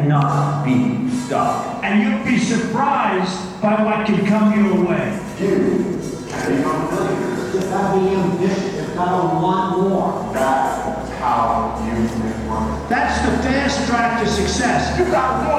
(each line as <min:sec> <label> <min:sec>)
0:00.0 voices 0:15.5